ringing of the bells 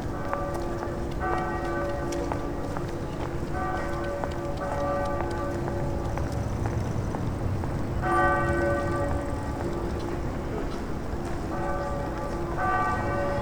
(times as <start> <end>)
8.0 9.9